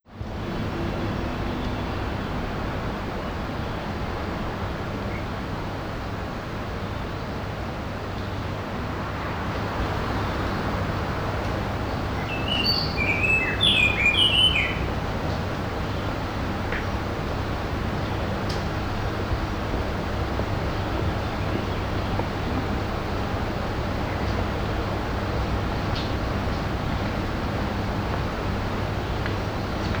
birds 9.5 - 18.2

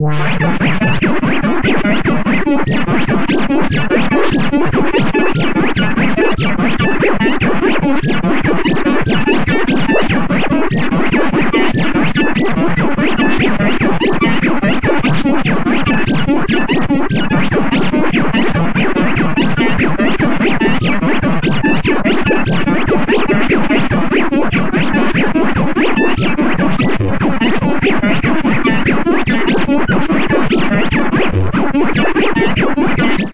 Bleeping 0.0 - 0.9

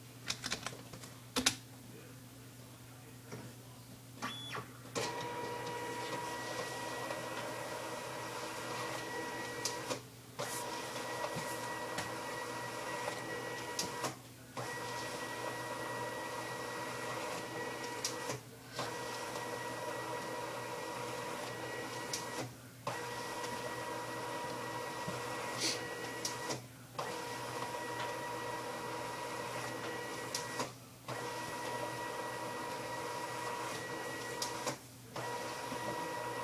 office scanner 4.2 - 36.4

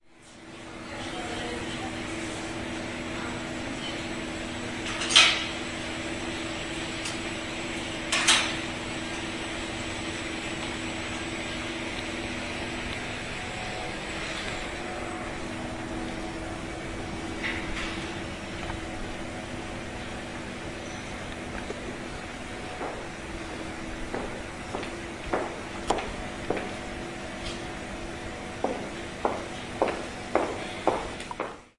buzzing of a lift and drinks machines 0.0 - 31.7
voices 0.7 - 4.2
steps 22.7 - 26.8
high heels 24.1 - 26.7
steps 28.6 - 31.7
high heels 28.6 - 31.7

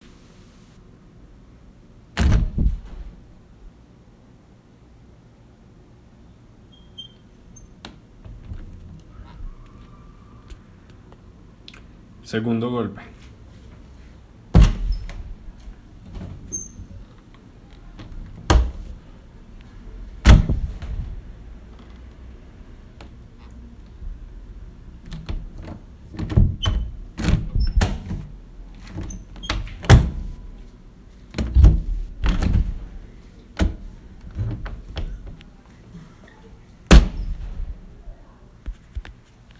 doors open 2.2 - 3.6
doors open 6.6 - 11.3
doors open 13.2 - 38.8

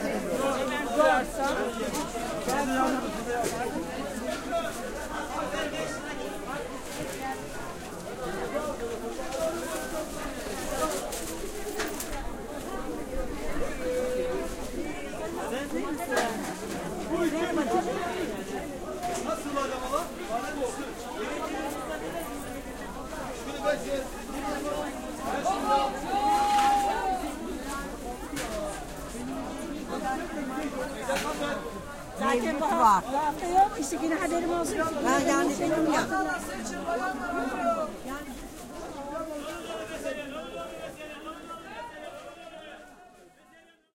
stallholders sell their stuff 0.0 - 43.7

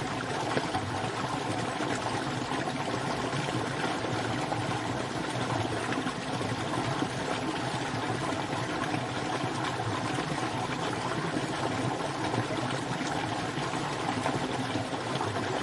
small stream 0.0 - 15.6

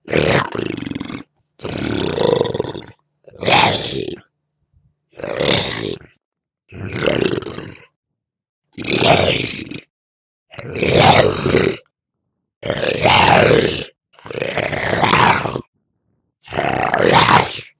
monster snarls 0.0 - 4.3
monster snarls 5.1 - 8.0
monster snarls 8.7 - 9.9
monster snarls 10.5 - 11.9
monster snarls 12.6 - 15.7
monster snarls 16.4 - 17.7

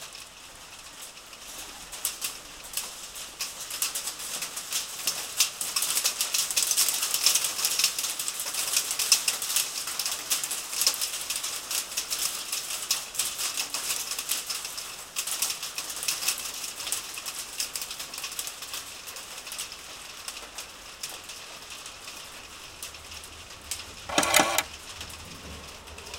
Light hail on a tin roof 0.0 - 23.9
Ticket stamping machine noise 24.1 - 24.7

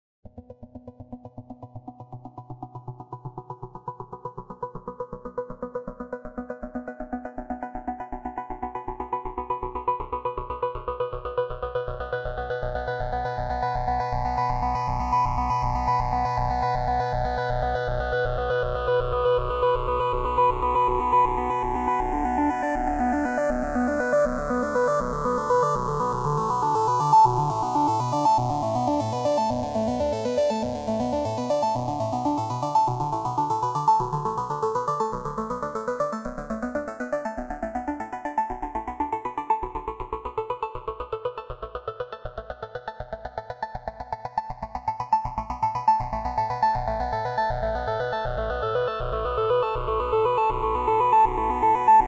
arpeggiation of a few chords 15.8 - 42.7
arpeggiation of a few chords 44.1 - 52.0

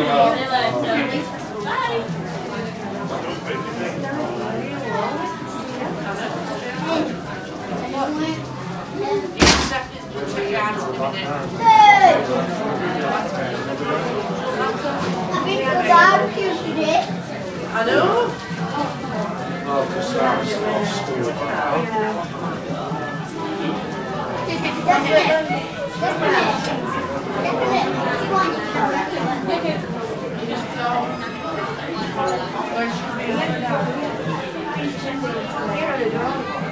chat 11.2 - 13.6

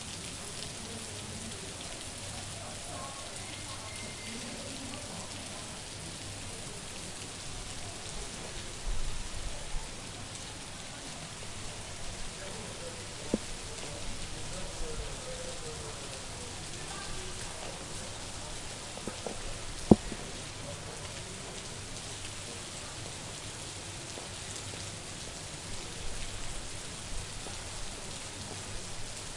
rain 0.0 - 29.3

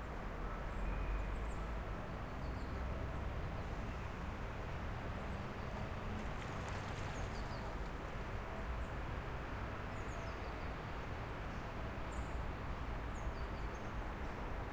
distant traffic 0.0 - 14.7
birds 5.2 - 8.1

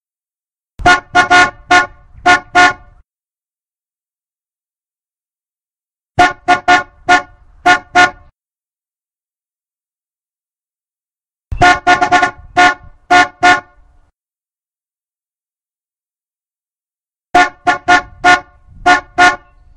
horn 0.8 - 3.0
horn 6.2 - 8.3
horn 11.5 - 13.8
horn 17.4 - 19.6

